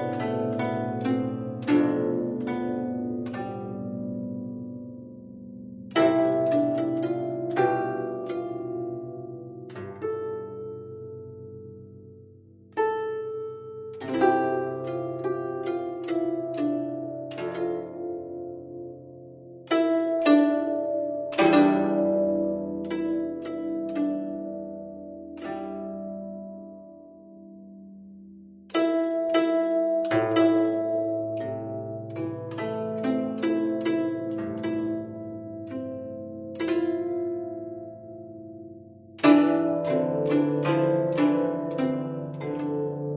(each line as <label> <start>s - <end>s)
synth-guzheng 0.0s - 43.1s